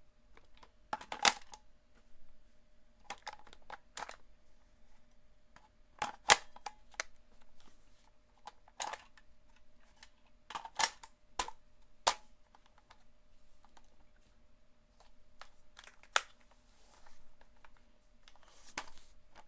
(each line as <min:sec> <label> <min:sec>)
0:01.0 Handling and reloading a Lancer Tactical LT-15 airsoft gun 0:01.6
0:06.0 Handling and reloading a Lancer Tactical LT-15 airsoft gun 0:07.1
0:08.7 Handling and reloading a Lancer Tactical LT-15 airsoft gun 0:12.2